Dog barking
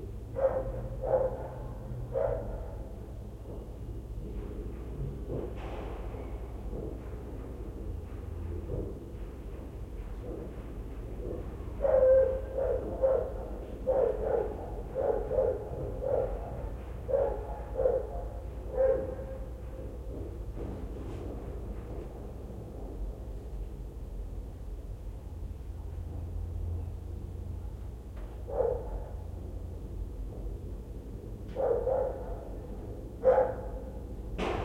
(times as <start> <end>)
0.4 2.9, 11.8 19.5, 28.5 29.2, 31.6 32.6, 33.2 34.0